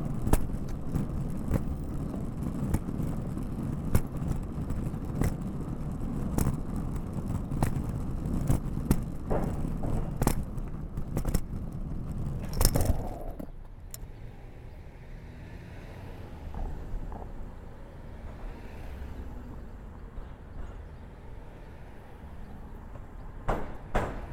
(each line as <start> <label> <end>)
7.2 Luggage Bag Drag 13.6